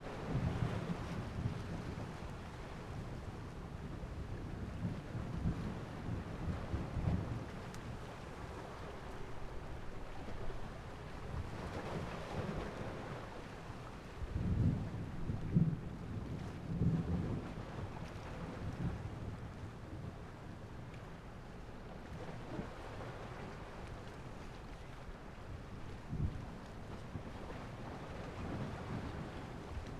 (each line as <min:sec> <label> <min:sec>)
0:00.1 waves crashing on the marina breakwater 0:29.9